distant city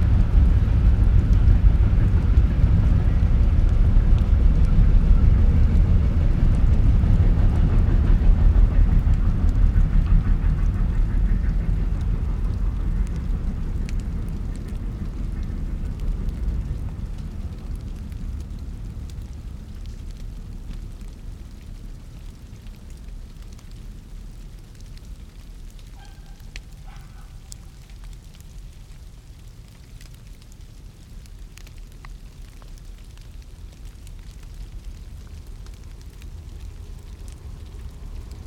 0.0s 30.4s

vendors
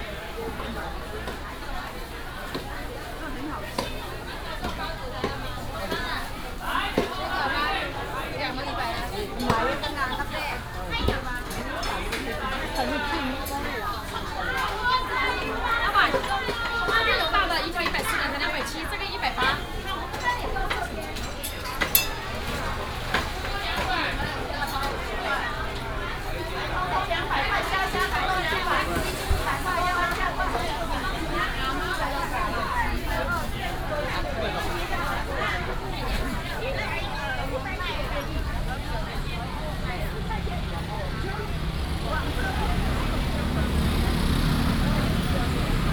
35.0s 45.9s

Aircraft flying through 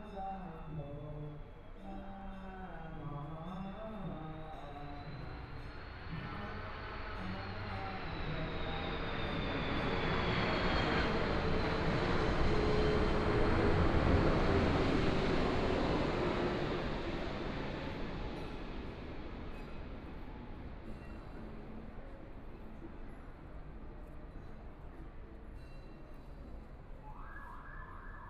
5.8s 18.4s

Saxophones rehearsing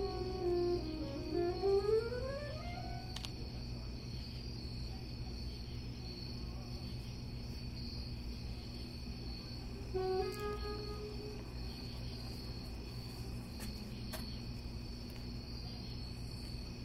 0.0s 3.2s, 9.9s 11.9s

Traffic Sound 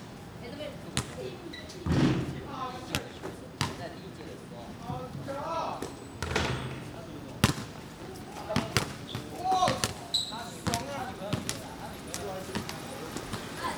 7.8s 13.7s

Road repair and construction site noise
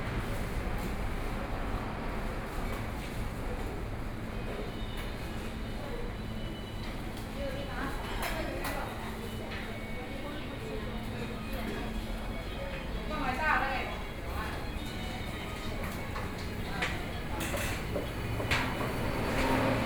13.9s 19.8s

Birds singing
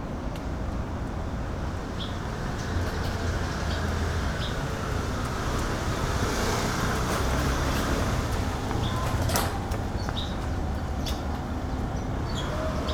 7.2s 12.9s

